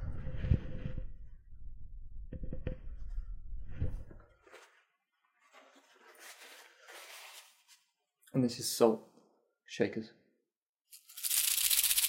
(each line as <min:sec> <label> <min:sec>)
0:10.9 shaking my salt and pepper grinders 0:12.0